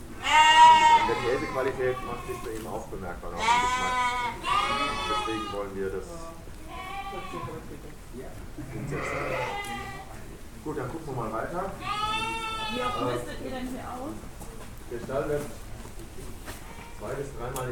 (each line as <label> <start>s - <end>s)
farmer’s speech 0.6s - 6.4s
multi-vocal choir of sheep 3.4s - 5.7s